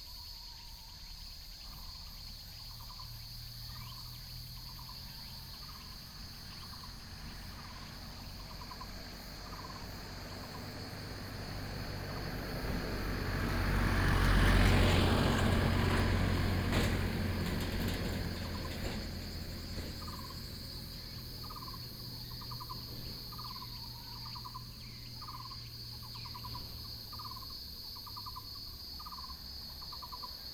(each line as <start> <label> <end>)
0.0 Cicadas sound 30.5
0.0 Insects sound 30.5
16.7 birds sound 30.4